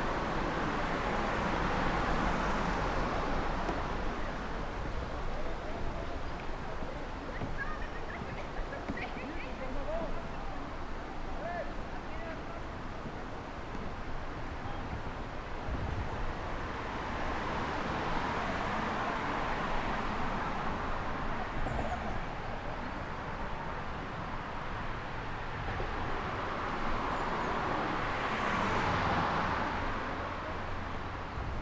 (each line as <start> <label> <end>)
0.0 kayaker 24.6
0.0 river 31.6
7.2 bird 9.7